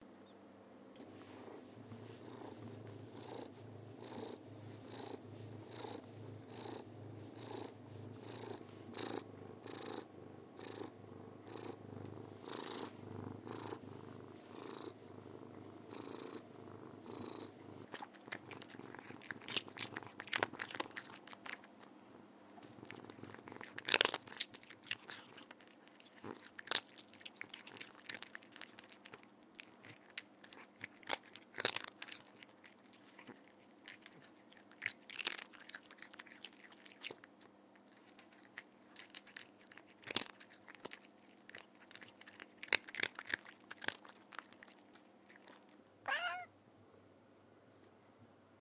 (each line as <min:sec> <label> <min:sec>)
0:01.0 cat purring 0:37.2
0:17.9 eating crunchy treats 0:21.9
0:22.6 eating crunchy treats 0:45.8
0:37.8 cat purring 0:46.5
0:46.0 small 'more' meow 0:46.6